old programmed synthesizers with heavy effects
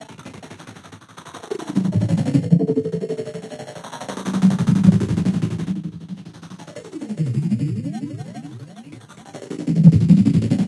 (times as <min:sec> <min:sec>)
0:01.7 0:05.1